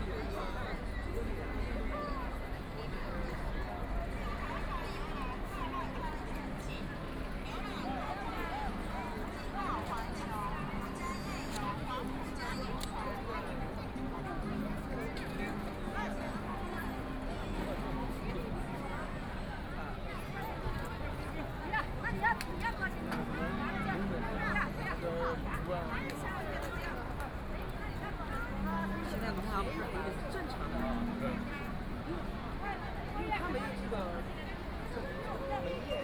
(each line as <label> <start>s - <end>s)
Very many people and tourists 0.0s - 36.0s